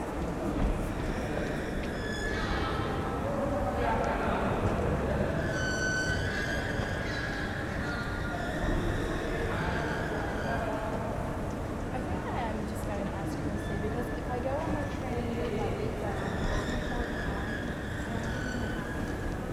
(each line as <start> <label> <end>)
0.0 people going down to the subway 19.5
0.0 singing escalator 19.5